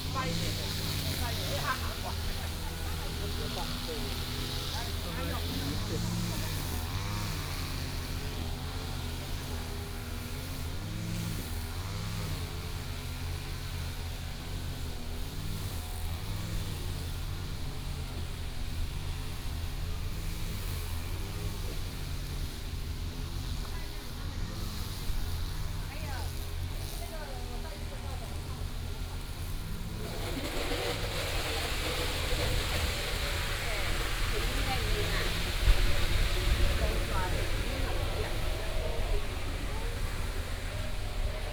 0.0s Lawn mower 41.5s
0.0s walking in the park 41.5s
22.8s Traffic sound 41.5s
23.0s Tourists 41.5s

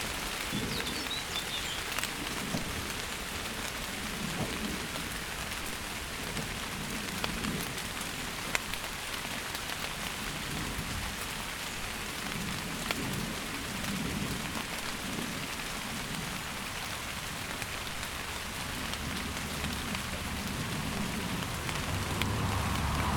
0.0s Rain on leaves 23.1s

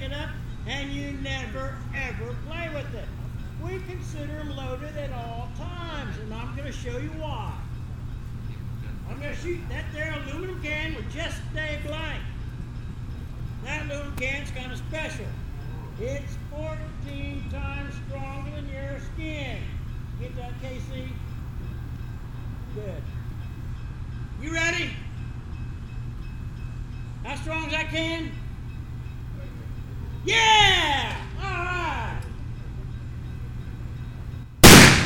0.0s safety speech 7.8s
0.0s diesel engine used by the Abilene & Smoky Valley Railroad maneuvers 35.0s
8.9s safety speech 12.4s
13.6s safety speech 21.3s
24.4s safety speech 25.1s
27.2s safety speech 28.4s
29.3s safety speech 32.3s

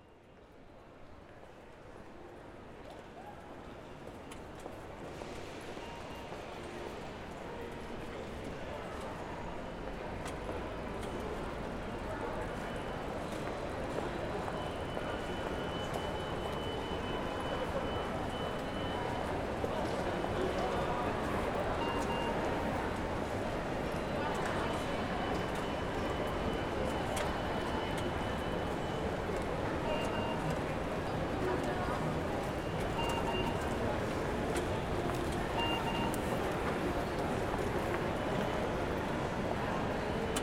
0.0s international train to Düsseldorf is announced 40.4s
0.0s the train arrives 40.4s
32.5s machines that check the tickets 36.6s
39.6s machines that check the tickets 40.4s
39.8s walk to the platform 40.4s

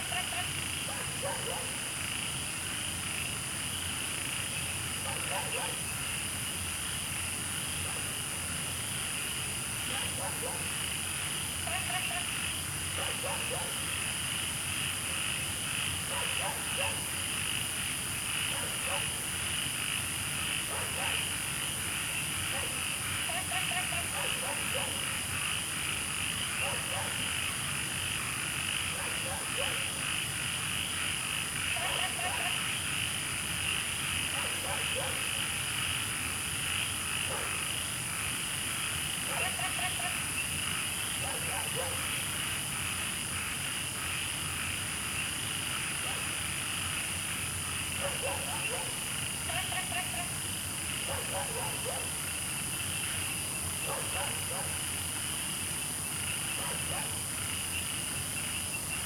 0.0s Insects sounds 59.0s
0.9s Dogs barking 1.8s
5.0s Dogs barking 5.8s
8.8s Frogs chirping 59.0s
9.9s Dogs barking 10.7s
13.0s Dogs barking 13.8s
16.1s Dogs barking 17.1s
18.5s Dogs barking 19.2s
20.7s Dogs barking 21.3s
22.5s Dogs barking 22.8s
24.0s Dogs barking 25.0s
26.6s Dogs barking 27.2s
28.9s Dogs barking 30.0s
31.8s Dogs barking 32.6s
34.3s Dogs barking 35.3s
37.3s Dogs barking 37.6s
39.3s Dogs barking 40.1s
41.2s Dogs barking 42.1s
48.0s Dogs barking 49.0s
51.0s Dogs barking 52.2s
53.8s Dogs barking 54.8s
56.6s Dogs barking 57.2s

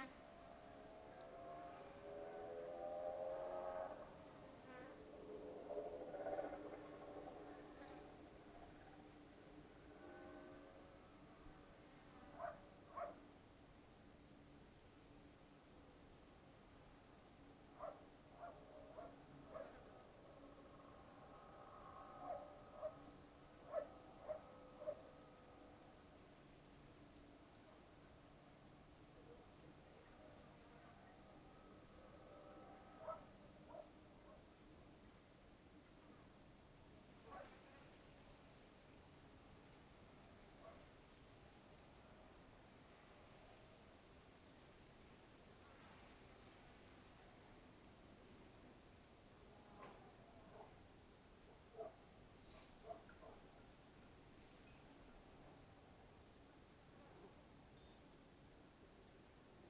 0.0s distant motorcycles 13.2s
17.8s distant motorcycles 34.4s

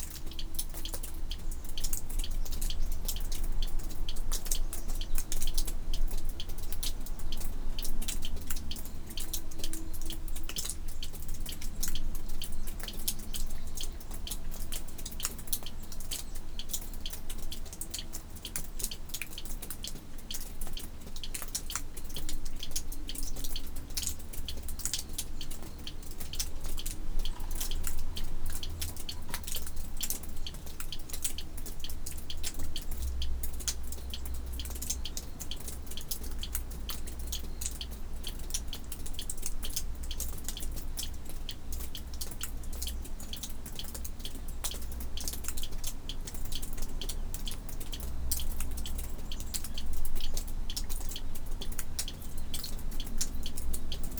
0.0s water dripping from it's roof 54.1s

